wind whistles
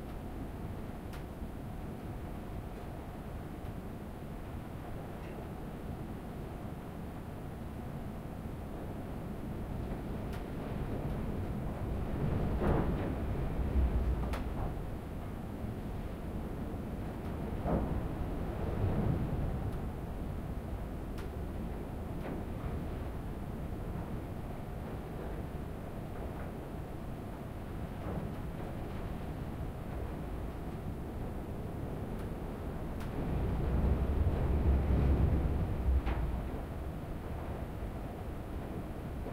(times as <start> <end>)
32.6 38.3